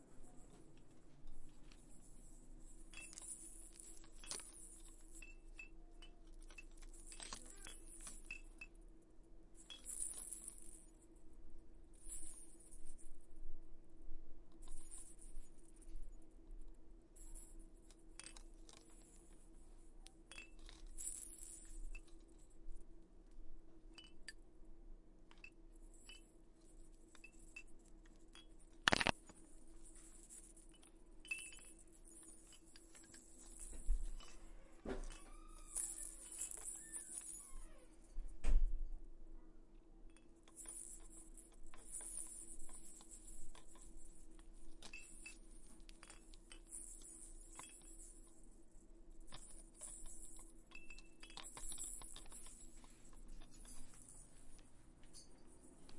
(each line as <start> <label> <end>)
2.9 plastic rattles clinking together 8.7
28.8 plastic rattles clinking together 29.4
32.9 plastic rattles clinking together 37.6